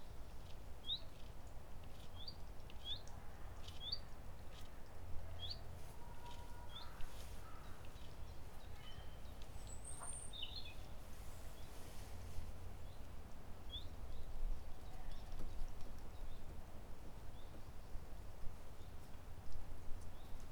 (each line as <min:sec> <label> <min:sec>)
0:00.0 wind 0:20.5